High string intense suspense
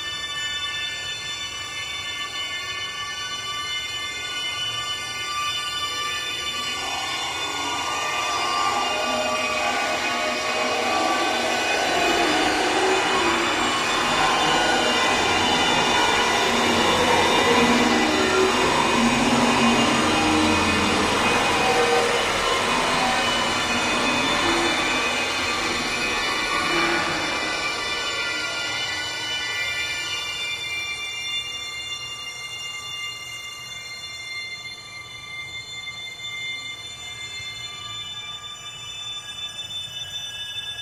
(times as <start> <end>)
6.2 30.6